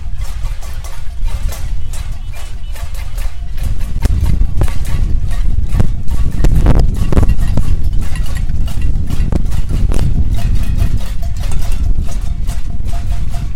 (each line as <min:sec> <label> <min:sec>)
0:00.0 Casseroles 0:13.5